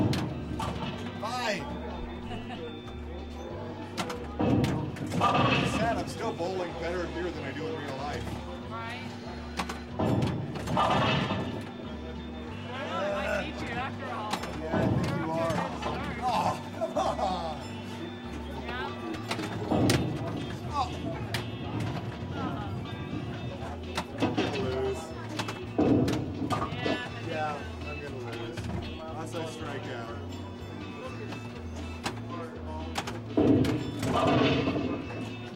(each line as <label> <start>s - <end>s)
pinball 0.0s - 2.2s
pinball 2.8s - 8.6s
pinball 9.4s - 12.4s
pinball 13.6s - 16.7s
pinball 17.8s - 29.8s
pinball 31.1s - 35.5s